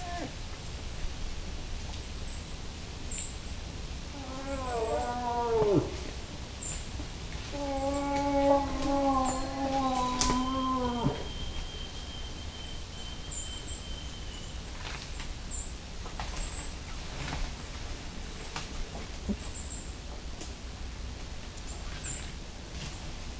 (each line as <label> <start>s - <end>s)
Cow and Bull moose calling and moving through woods 0.0s - 2.5s
Cow and Bull moose calling and moving through woods 4.0s - 20.1s